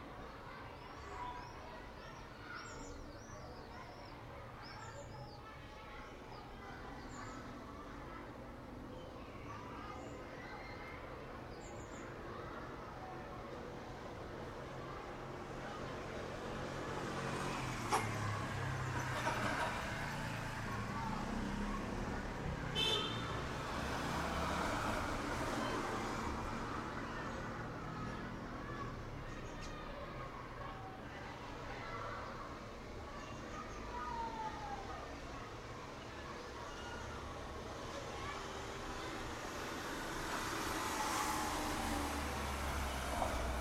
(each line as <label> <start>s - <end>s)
Elementary school recess 0.0s - 43.6s
sparrows 0.1s - 13.0s
passing traffic 11.0s - 43.6s